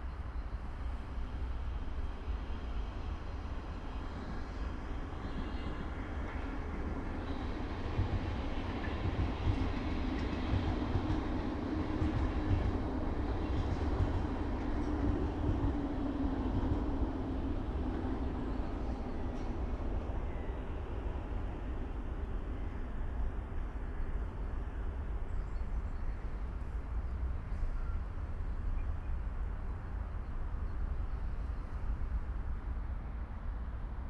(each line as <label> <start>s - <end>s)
Passing train 0.0s - 34.0s